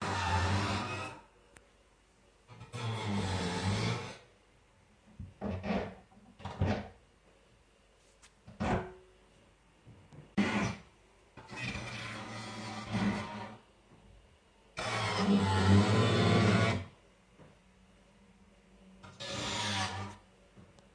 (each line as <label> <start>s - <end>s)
drilling 0.0s - 1.2s